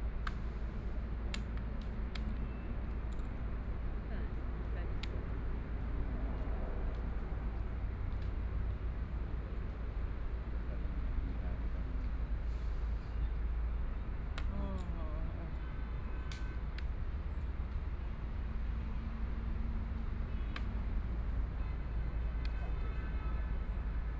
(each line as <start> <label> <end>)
0.0 Traffic Sound 24.1